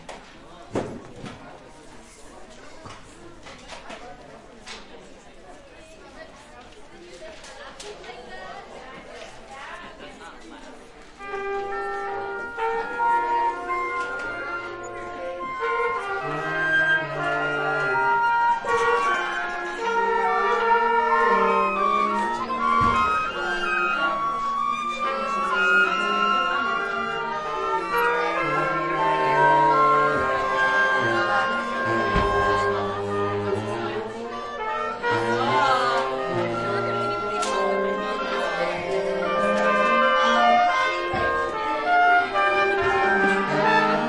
11.2s trumpet 44.0s
11.2s baritone sax 44.0s
11.2s flute 44.0s

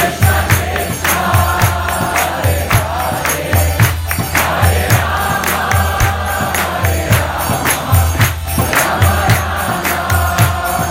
0.0s kirtan song 10.9s

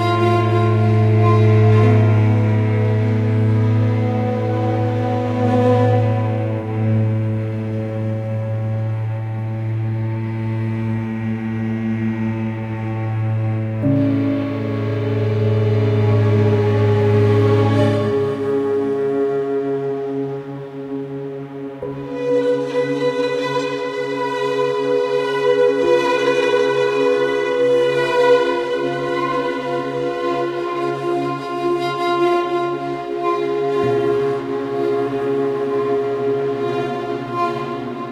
0.0s Orchestra 38.1s

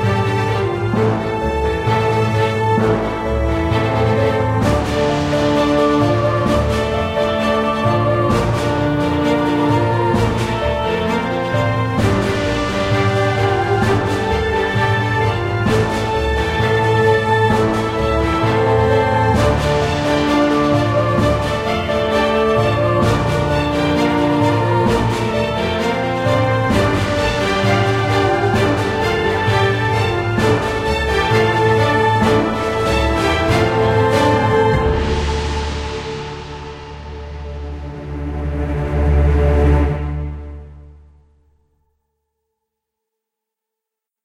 0.0s strings 41.5s
0.0s timpani 41.5s

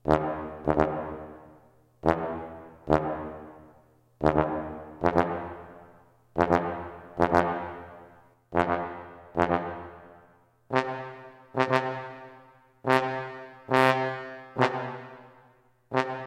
0.0s low pitched trombone blips 1.4s
2.0s low pitched trombone blips 5.8s
6.4s low pitched trombone blips 10.1s
10.7s low pitched trombone blips 16.2s

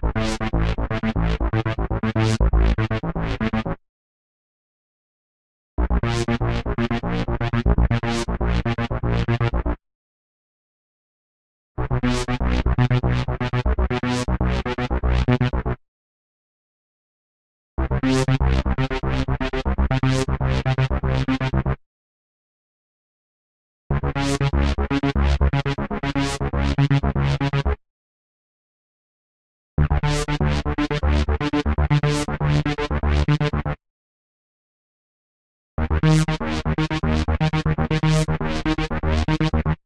35.8s wobble style bass 39.8s

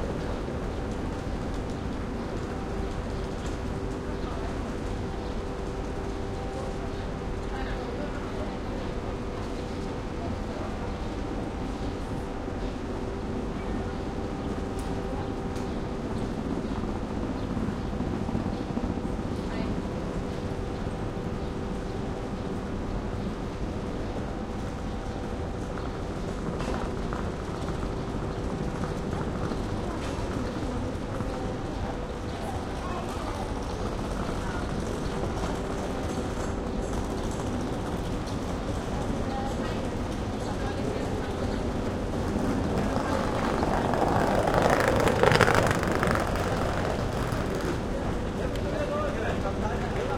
0.0s train 50.1s
28.4s People 50.1s

